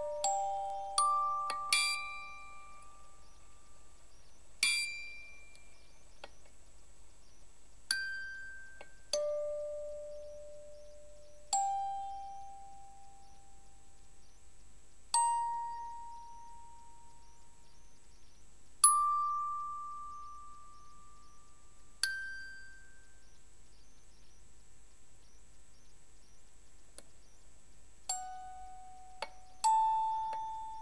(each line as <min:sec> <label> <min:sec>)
0:00.0 old music box playing a little song 0:03.4
0:04.6 old music box playing a little song 0:05.8
0:07.9 old music box playing a little song 0:10.7
0:11.4 old music box playing a little song 0:13.3
0:18.8 old music box playing a little song 0:20.7
0:22.0 old music box playing a little song 0:23.0
0:28.1 old music box playing a little song 0:30.8